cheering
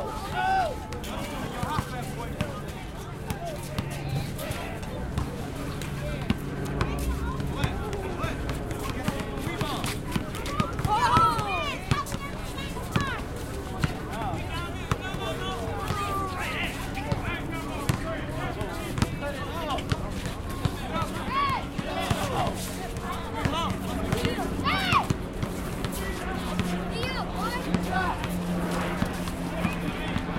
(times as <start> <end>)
0.0 0.9